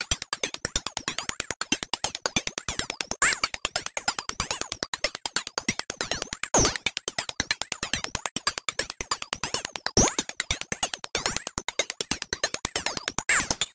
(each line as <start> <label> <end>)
5.4 ethnic percussion loop with alot of modulation 13.7